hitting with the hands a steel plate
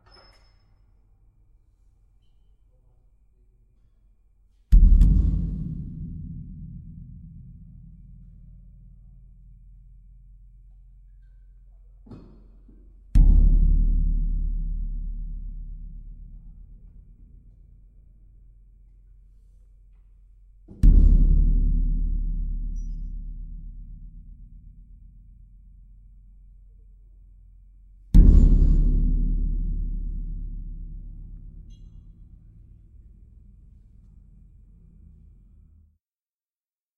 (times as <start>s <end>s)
28.2s 32.2s